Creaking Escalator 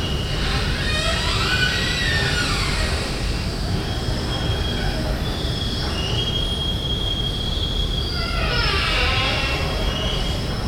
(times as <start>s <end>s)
0.0s 5.1s, 8.0s 10.5s